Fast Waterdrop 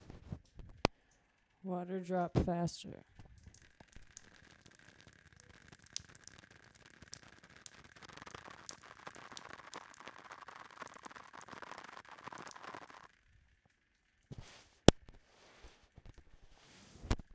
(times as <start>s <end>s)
3.3s 13.2s